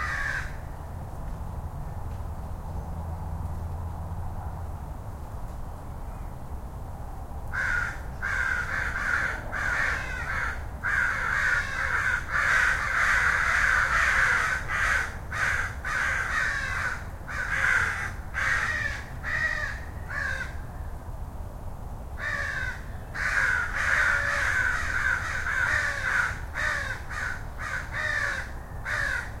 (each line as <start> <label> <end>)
0.0 crows 0.6
0.0 light traffic noise 29.4
7.5 crows 20.6
22.2 crows 29.4